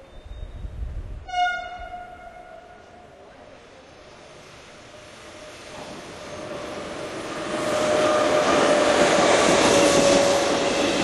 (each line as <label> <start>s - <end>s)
passage of the unexpected train 0.0s - 11.0s